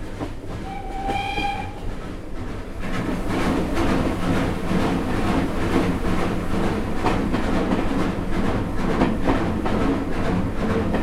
Steam Train as it passes through a tunnel 0:00.0 - 0:11.0

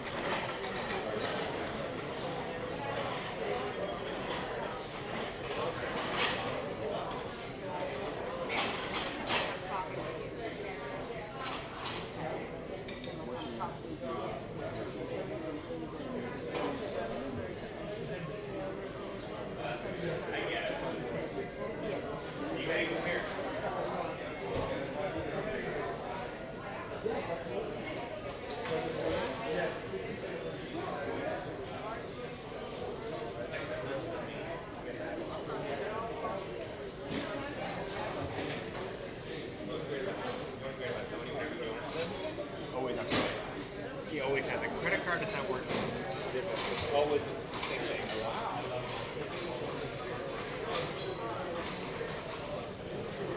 cutlery and dishes 0:12.8 - 0:13.6
cutlery and dishes 0:43.0 - 0:43.4

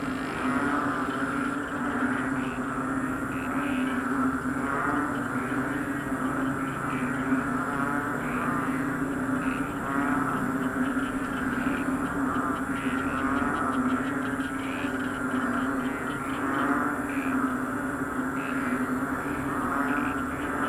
frogs in the field 0:00.0 - 0:20.6

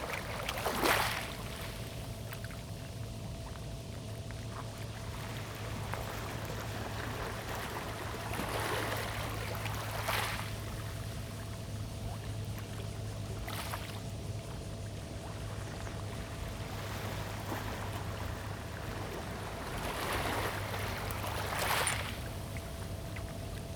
Acoustic wave water 0:00.0 - 0:23.7
boats on the river 0:00.0 - 0:23.7

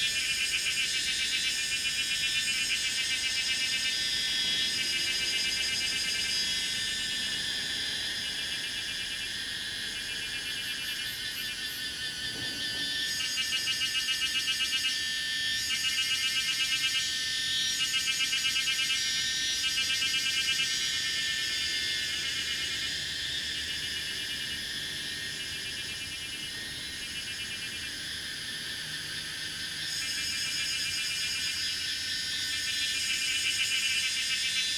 Cicadas cry 0:00.0 - 0:34.7

